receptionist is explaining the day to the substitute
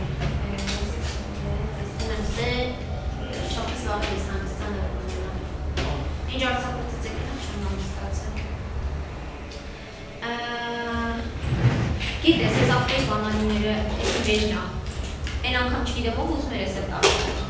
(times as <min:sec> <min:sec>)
0:12.0 0:17.4